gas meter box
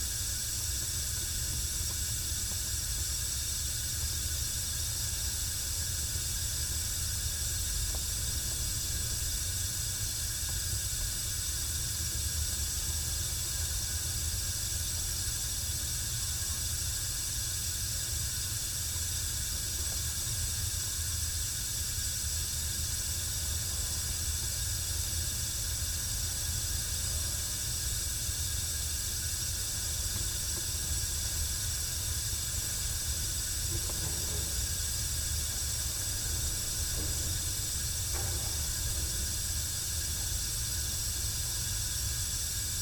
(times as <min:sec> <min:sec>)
0:21.6 0:42.7